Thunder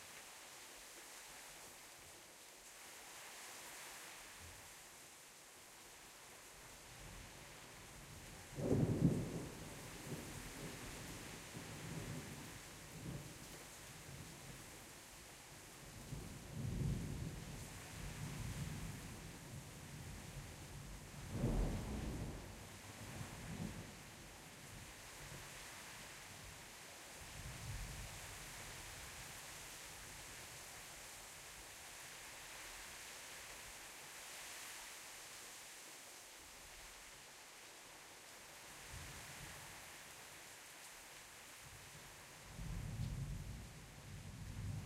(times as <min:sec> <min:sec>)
0:21.3 0:22.6